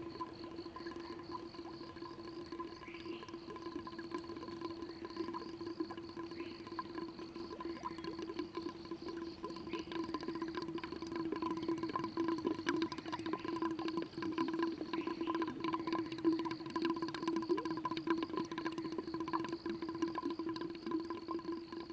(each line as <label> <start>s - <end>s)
Water flow 0.0s - 21.9s
Bird sounds 14.6s - 16.4s